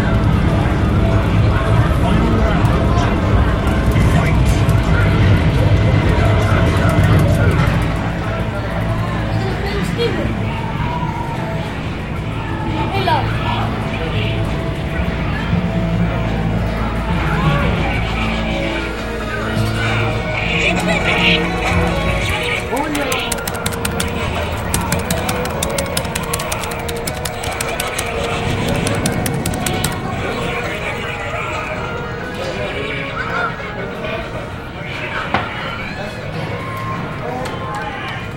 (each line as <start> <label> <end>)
19.8 bustling with the life of children 31.4